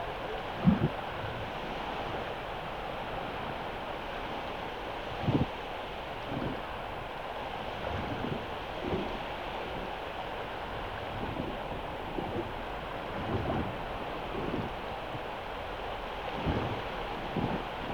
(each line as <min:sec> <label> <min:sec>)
0:00.0 water 0:17.9